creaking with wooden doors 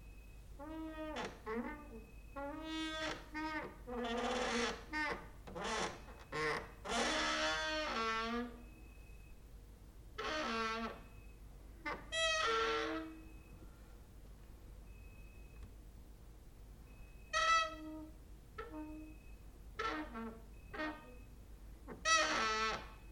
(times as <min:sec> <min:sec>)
0:00.6 0:08.8, 0:10.2 0:13.6, 0:17.1 0:23.1